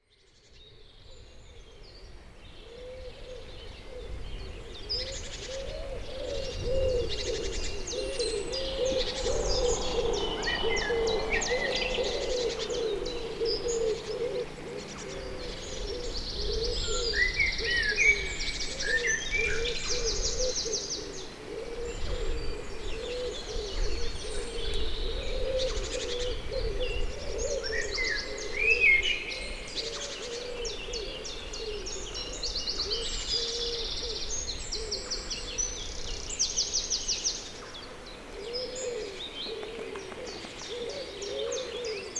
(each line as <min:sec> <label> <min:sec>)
0:05.0 wood pigeon 0:35.9
0:38.2 wood pigeon 0:42.1